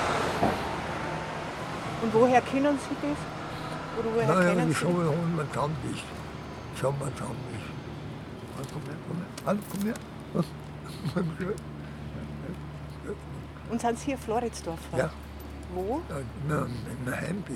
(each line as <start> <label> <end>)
4.0 old man singing and talking 5.8
15.0 old man singing and talking 15.2